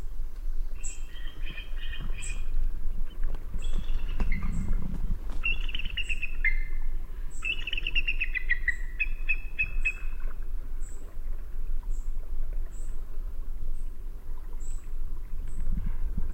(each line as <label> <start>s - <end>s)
Bald Eagle 0.8s - 10.4s